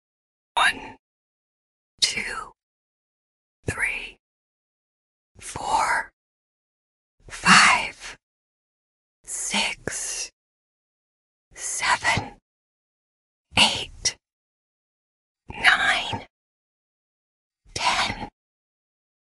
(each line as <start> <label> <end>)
0.6 Woman counting from 1 to 10 in a whisper 1.0
7.3 Woman counting from 1 to 10 in a whisper 8.2
9.3 Woman counting from 1 to 10 in a whisper 10.3
11.6 Woman counting from 1 to 10 in a whisper 12.4
13.6 Woman counting from 1 to 10 in a whisper 14.2
15.5 Woman counting from 1 to 10 in a whisper 16.3
17.8 Woman counting from 1 to 10 in a whisper 18.3